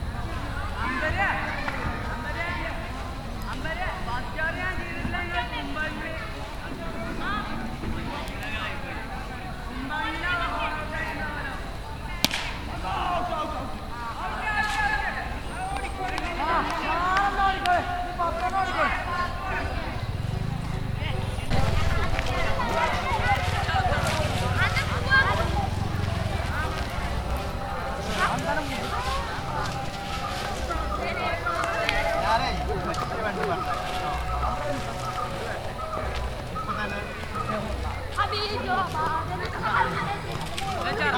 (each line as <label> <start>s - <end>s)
boys playing cricket 0.0s - 41.1s
chanting songs 0.0s - 41.1s
motorbike starting and driving through the playground 0.0s - 41.1s
Two women washing there clothes 14.1s - 41.1s